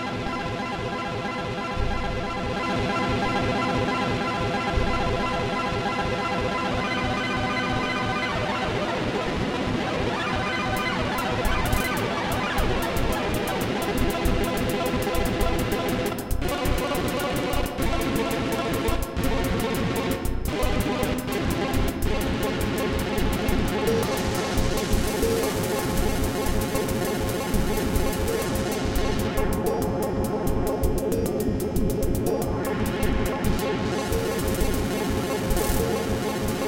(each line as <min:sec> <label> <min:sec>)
0:00.0 analogue synths 0:36.6
0:10.2 beat 0:36.6